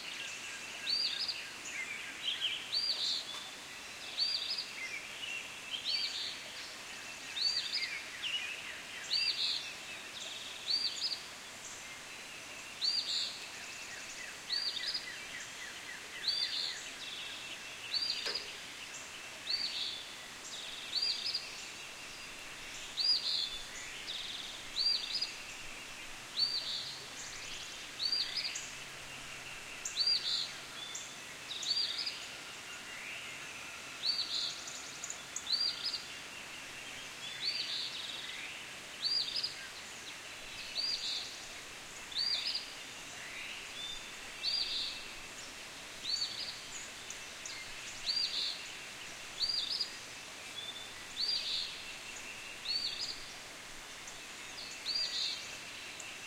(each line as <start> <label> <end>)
0.0 birdsong 56.2
0.0 flowing stream 56.2